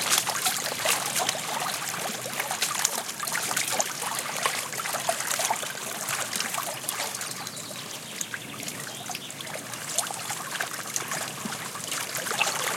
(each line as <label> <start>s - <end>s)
wind 0.0s - 12.7s
birds singing in background 7.1s - 9.6s